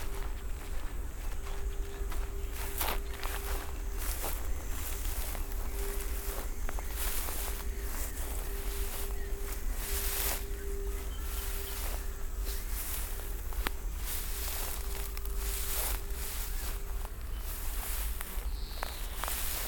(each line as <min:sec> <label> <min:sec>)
0:00.0 walking 0:19.6